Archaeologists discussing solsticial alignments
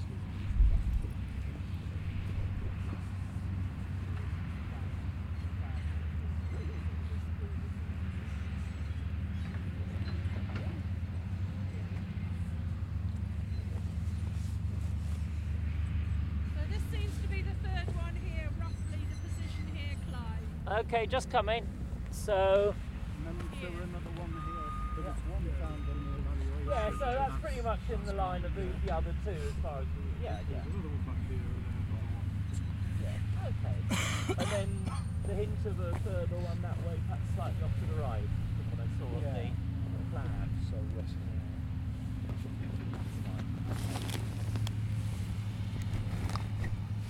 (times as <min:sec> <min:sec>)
0:16.3 0:45.7